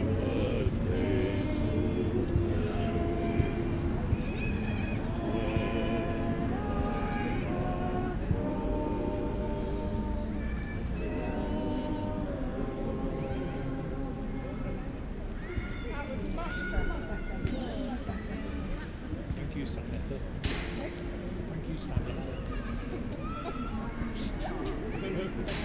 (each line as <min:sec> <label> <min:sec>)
0:00.0 choir practicing 0:19.0
0:00.0 people talking 0:25.6
0:01.6 kids playing 0:19.3
0:20.4 choir practicing 0:25.6
0:20.4 kids playing 0:25.6